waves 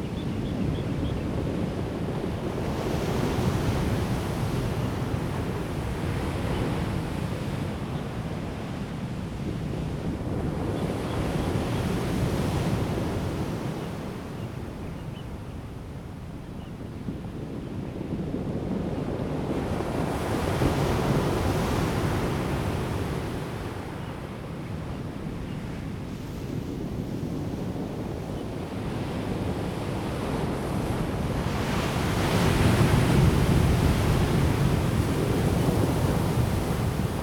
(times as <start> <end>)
19.2 37.2